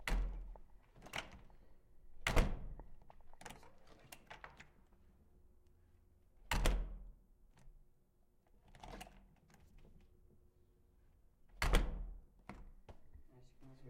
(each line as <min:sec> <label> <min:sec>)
0:02.1 wooden door closing 0:03.0
0:11.6 wooden door closing 0:12.7